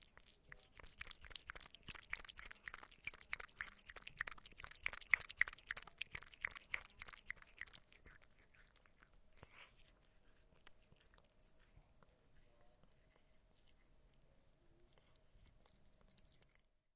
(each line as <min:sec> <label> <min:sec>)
0:00.0 Cat is drinking milk 0:16.9